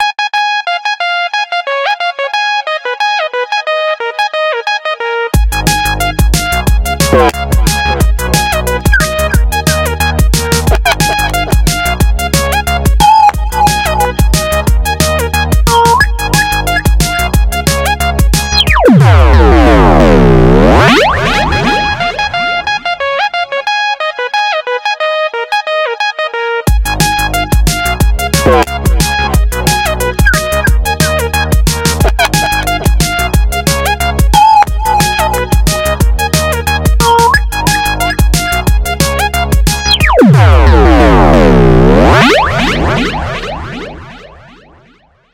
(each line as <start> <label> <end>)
0.0 ringtone 5.3
8.9 ringtone 9.8
10.6 ringtone 12.0
13.0 ringtone 17.4
18.5 ringtone 19.0
29.7 ringtone 38.7
39.7 ringtone 40.3